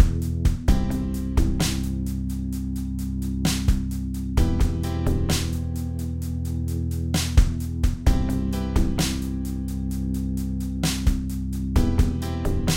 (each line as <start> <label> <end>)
0.0 piano 3.4
4.3 piano 12.7